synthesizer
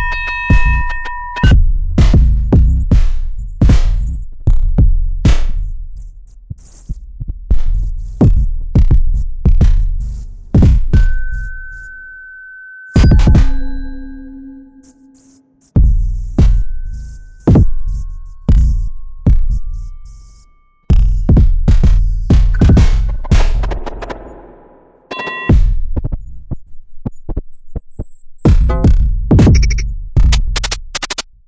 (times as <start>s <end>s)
13.0s 25.8s